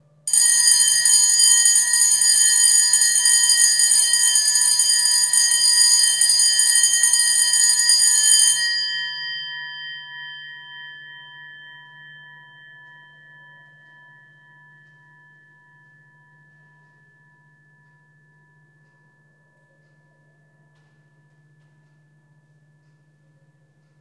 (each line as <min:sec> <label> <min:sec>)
0:00.3 School bell 0:23.2